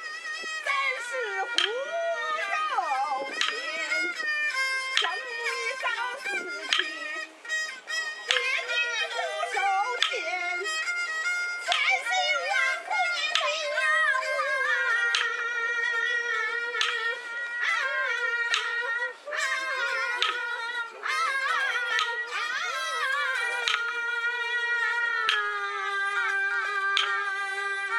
Yu Opera (河南豫剧) performed by the unknown folks 0:00.0 - 0:27.9

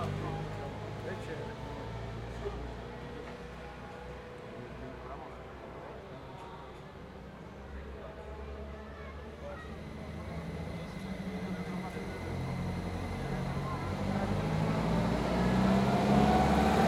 old cars with two-stroke engine trying to climb a hill 0:09.6 - 0:16.8

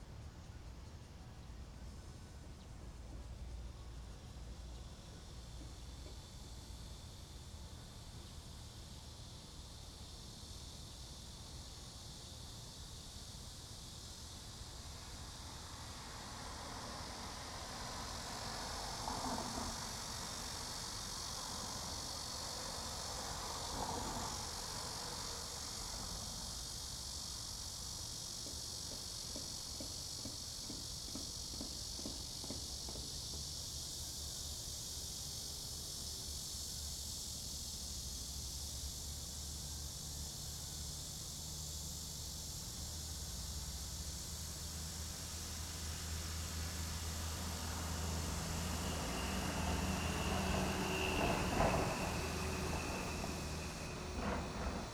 The train runs through 0:01.1 - 0:54.9
Cicada cry 0:06.2 - 0:54.9
traffic sound 0:44.6 - 0:54.9

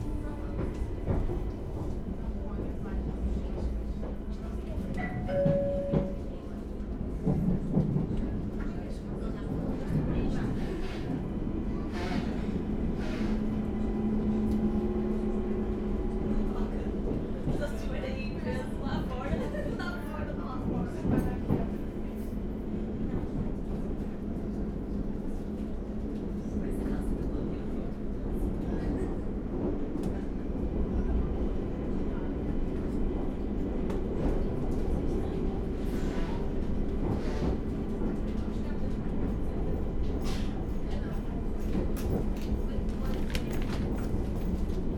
train departing 0:00.0 - 0:07.6
teenage girls talking and laughing 0:16.8 - 0:21.0

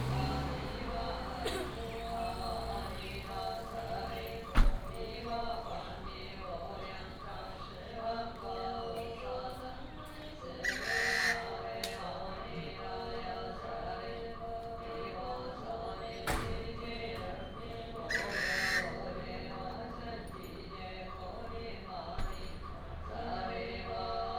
Funeral chanting 0:00.0 - 0:24.3
Traffic sound 0:00.0 - 0:24.3
Bird call 0:10.4 - 0:11.6
Bird call 0:17.4 - 0:19.1

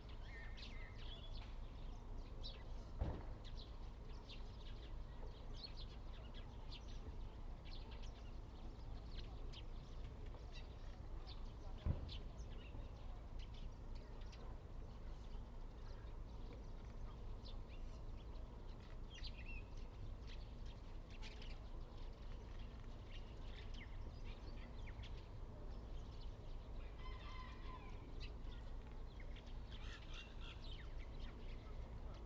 Birds singing 0:17.4 - 0:32.2

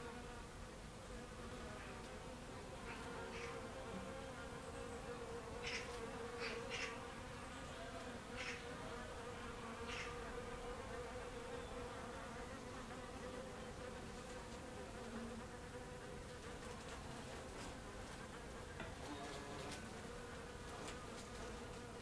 Bees on a Passiflore Tree 0:00.0 - 0:22.0

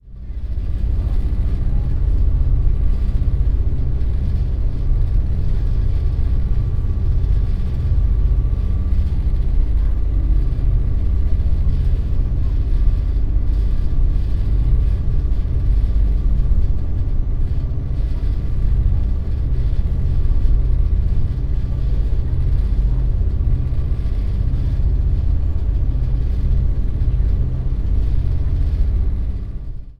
engine vibrations 0:00.0 - 0:29.9

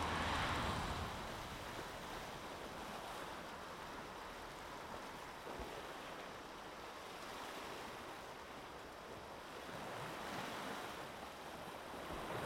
Traffic 0:00.0 - 0:03.0
Waves 0:00.0 - 0:12.4

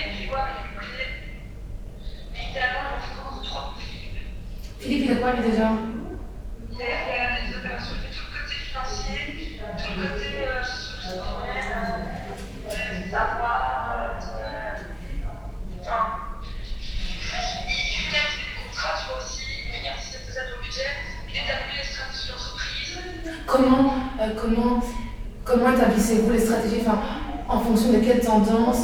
skype communication 0:02.0 - 0:28.8
girl discussing 0:23.3 - 0:28.8

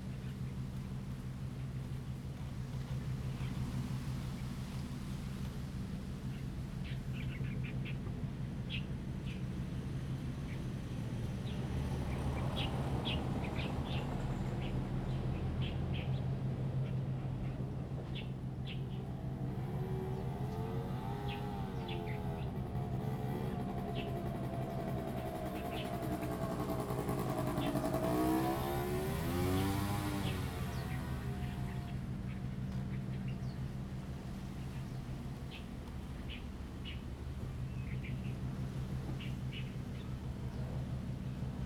Wind and Trees 0:00.0 - 0:41.6
distant fishing boat 0:00.1 - 0:41.6
Birds singing 0:16.8 - 0:33.7

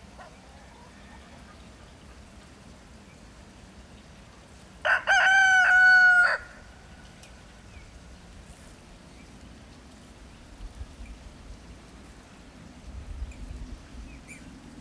Chickens 0:00.0 - 0:02.6
Rooster 0:00.2 - 0:01.7
Rooster 0:04.8 - 0:06.7

